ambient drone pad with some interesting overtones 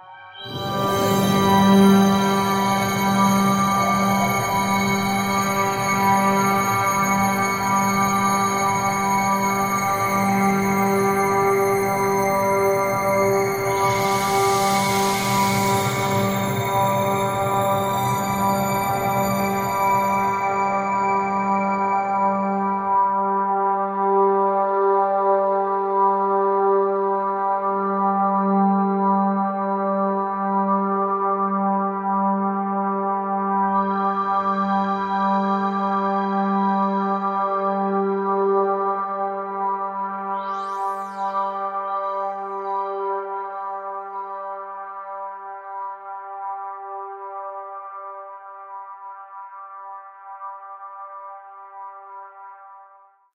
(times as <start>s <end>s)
0.4s 22.2s